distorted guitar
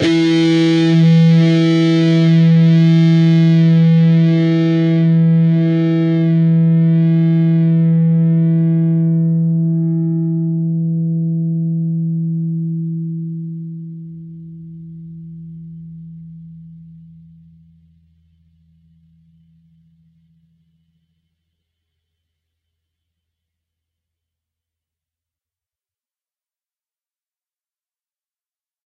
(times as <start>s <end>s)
0.0s 20.1s